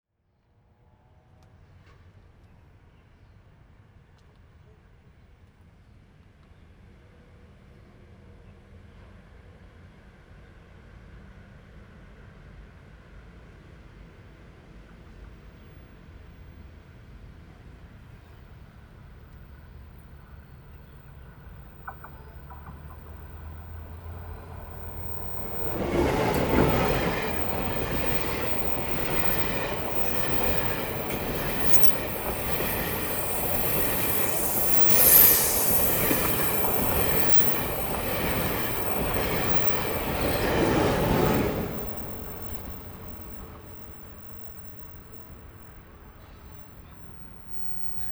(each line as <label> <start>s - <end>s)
train runs through 12.5s - 48.1s
Traffic sound 18.9s - 48.1s